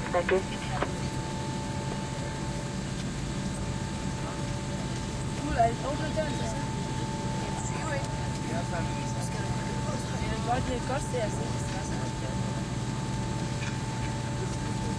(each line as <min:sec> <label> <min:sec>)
0:00.0 Passenger plane landing 0:14.9